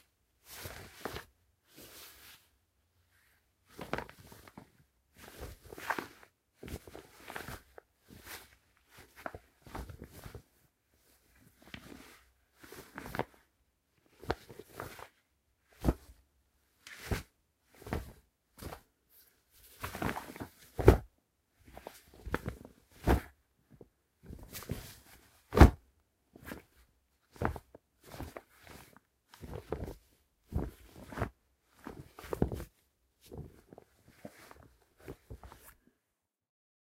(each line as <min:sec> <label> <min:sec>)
0:16.9 cloth moving close 0:23.3
0:24.2 cloth moving close 0:25.8
0:26.4 cloth moving close 0:35.8